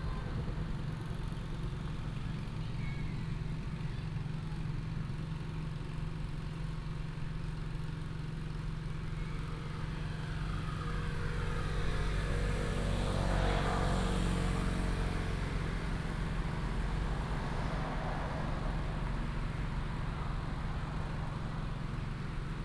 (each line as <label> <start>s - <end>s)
After the train passes 0.0s - 4.2s